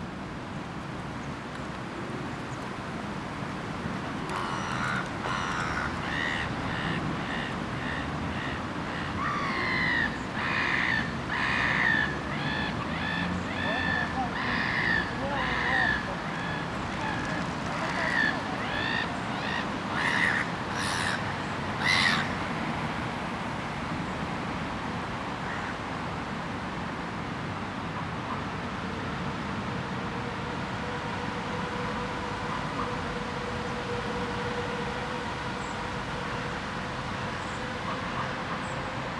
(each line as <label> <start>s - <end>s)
seagulls 4.3s - 22.3s
sirens 29.6s - 39.1s